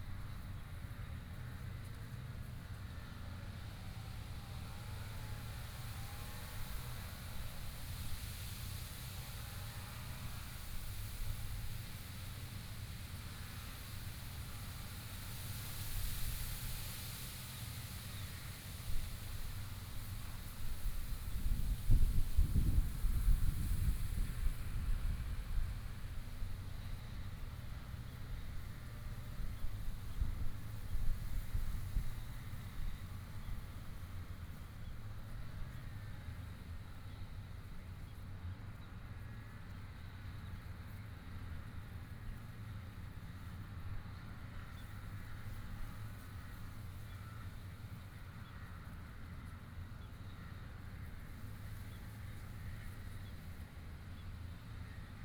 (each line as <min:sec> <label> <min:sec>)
0:14.0 wind moving the leaves 0:35.4